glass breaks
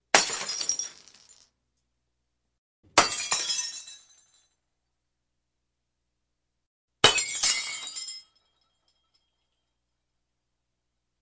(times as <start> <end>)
0.1 1.4, 3.0 4.4, 7.0 9.6